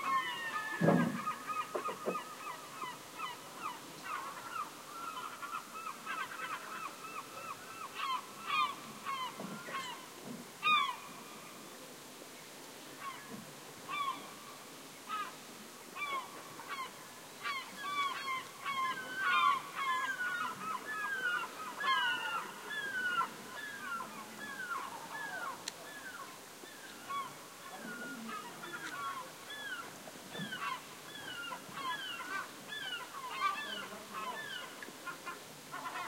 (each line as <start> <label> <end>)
0.0 seagulls screeching at some distance 11.1
0.0 ocean 36.0
13.9 seagulls screeching at some distance 14.4
16.0 seagulls screeching at some distance 36.0